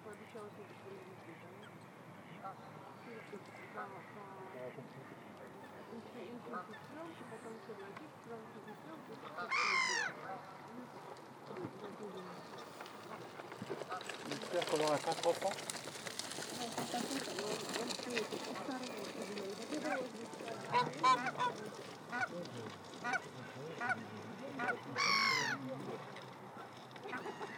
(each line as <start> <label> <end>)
8.6 Canada goose 10.4
8.7 Domestic goose 10.6
9.4 Blackhead gull 10.2
20.6 Domestic goose 22.3
20.7 Canada goose 22.3
20.7 Mallard duck 22.3
23.0 Canada goose 25.6
23.0 Mallard duck 25.6
23.0 Domestic goose 25.6
24.6 Blackhead gull 25.6
26.6 Domestic goose 27.5
27.0 Canada goose 27.5